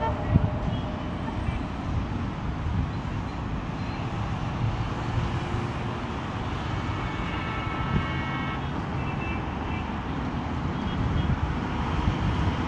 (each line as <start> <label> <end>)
0.0 traffic 12.6